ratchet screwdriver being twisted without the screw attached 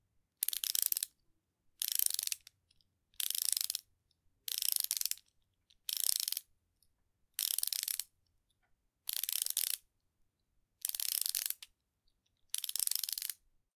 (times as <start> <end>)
0.4 1.2, 1.8 3.8, 4.5 6.5, 7.4 8.1, 9.1 9.8, 10.8 13.4